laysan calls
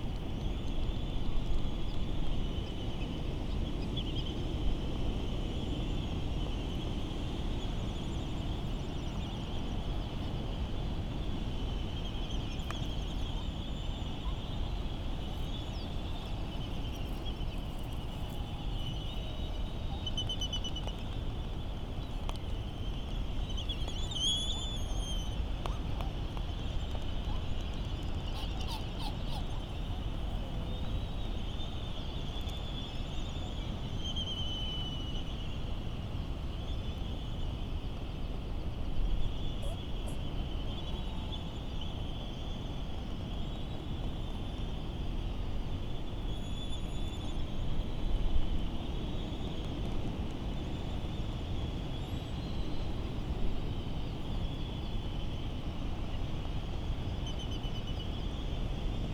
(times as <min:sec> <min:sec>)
0:28.2 0:31.1